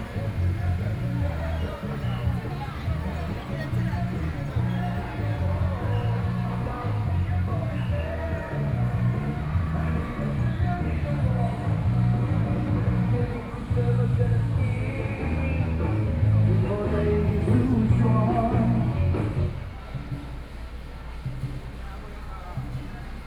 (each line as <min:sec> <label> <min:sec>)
0:00.0 Traffic Sound 0:23.2